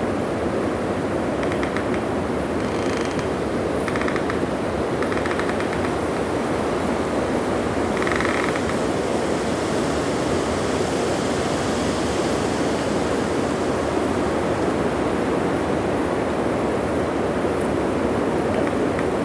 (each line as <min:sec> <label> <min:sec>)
0:00.0 nocturnal insects 0:10.8
0:00.0 wind 0:19.2
0:01.4 woodpeckers 0:03.3
0:03.9 woodpeckers 0:04.4
0:11.5 nocturnal insects 0:19.2